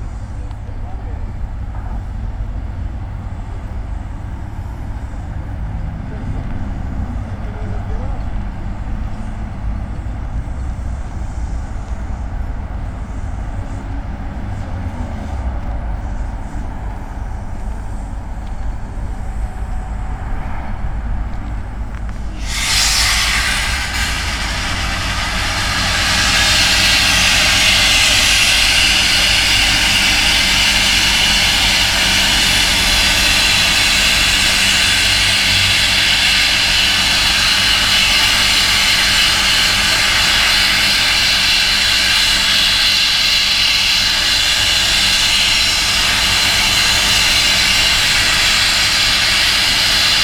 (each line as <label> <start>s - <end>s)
worker starts sanding the base of the viaduct 4.6s - 50.2s
workers fixing high voltage lines 21.9s - 50.2s